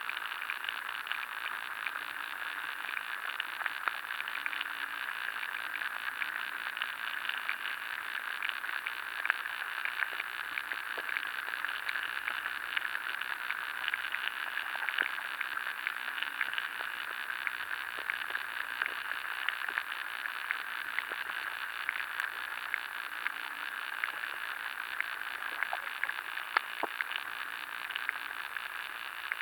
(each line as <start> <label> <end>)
0.0 underwater life in river 29.4